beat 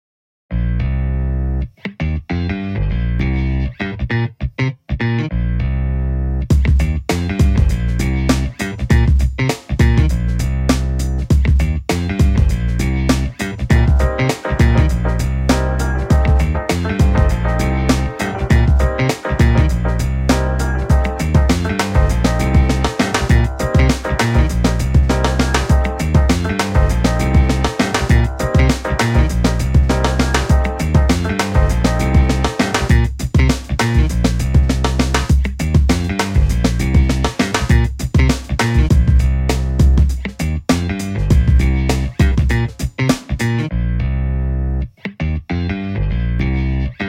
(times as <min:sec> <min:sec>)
0:06.5 0:43.7